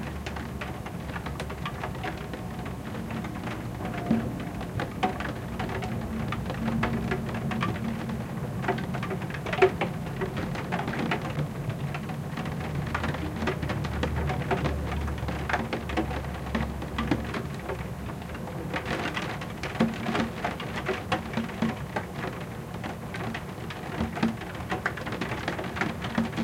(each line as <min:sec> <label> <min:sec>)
0:00.0 RAIN ON SKYLIGHT OR WINDOW 0:26.4